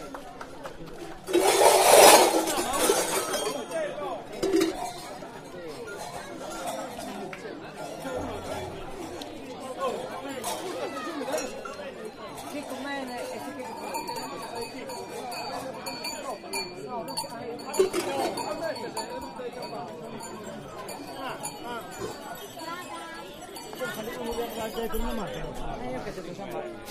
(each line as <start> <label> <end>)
0.0 voices 26.9
4.5 bells 26.9